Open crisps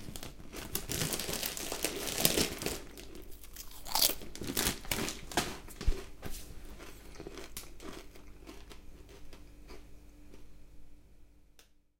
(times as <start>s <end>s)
0.0s 6.1s